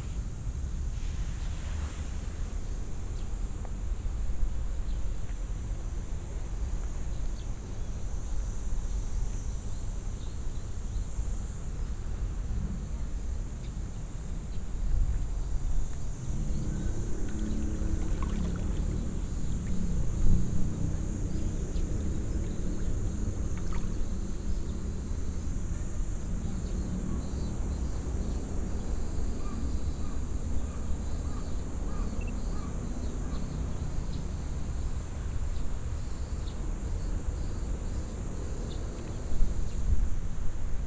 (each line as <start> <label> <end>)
0.0 cicades 40.8
0.0 wind 40.8
17.3 bubble in the water 19.8